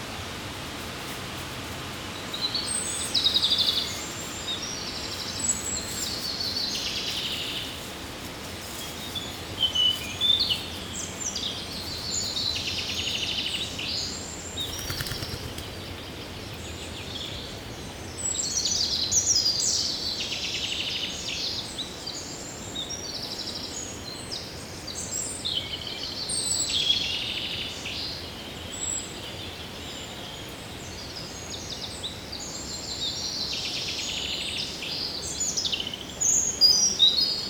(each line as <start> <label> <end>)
0.2 Common Wood Pigeon rummages into the dead leaves 15.8
8.5 European robin singing 15.6